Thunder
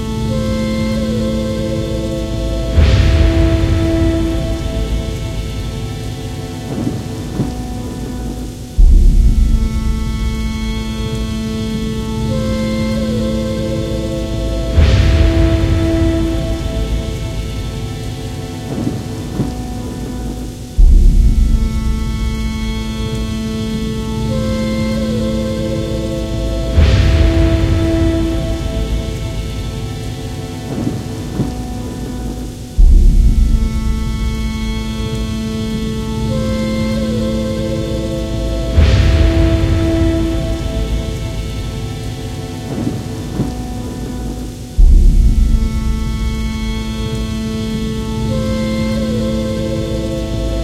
0:02.7 0:05.9, 0:14.7 0:17.9, 0:26.7 0:29.9, 0:38.7 0:46.9

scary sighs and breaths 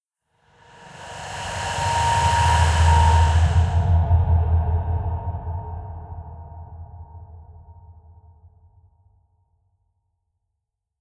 0:00.4 0:07.5

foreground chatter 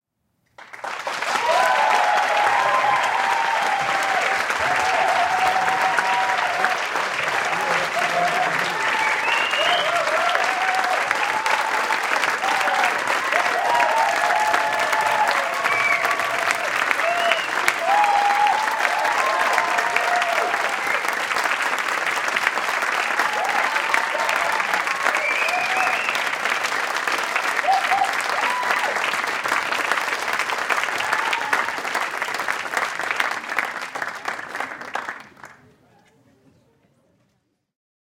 0:35.2 0:37.7

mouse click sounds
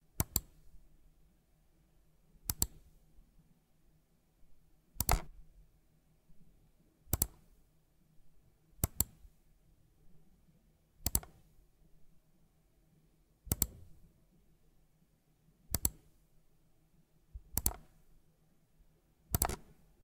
0:00.2 0:00.6, 0:02.4 0:02.9, 0:05.0 0:05.3, 0:07.1 0:07.5, 0:08.8 0:09.2, 0:11.0 0:11.4, 0:13.5 0:13.9, 0:15.7 0:16.1, 0:17.4 0:18.0, 0:19.3 0:19.8

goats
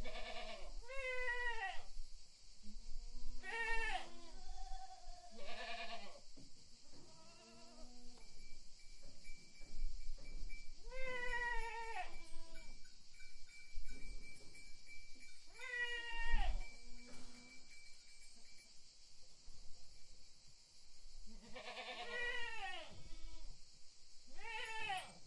0:09.1 0:12.8, 0:13.9 0:18.0, 0:21.3 0:23.5

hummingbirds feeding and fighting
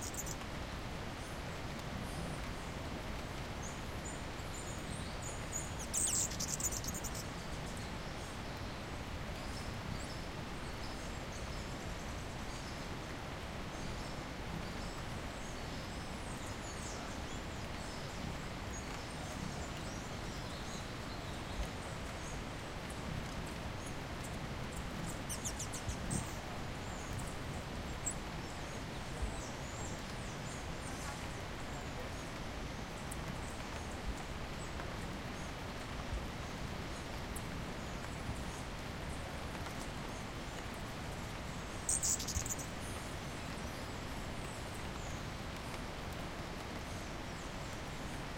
0:00.0 0:00.4, 0:03.6 0:07.3, 0:23.9 0:32.2, 0:37.2 0:45.6

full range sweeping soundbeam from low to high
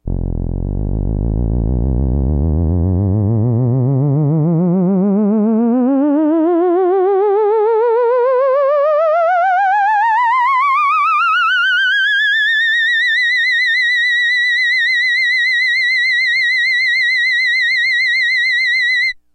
0:00.1 0:04.1

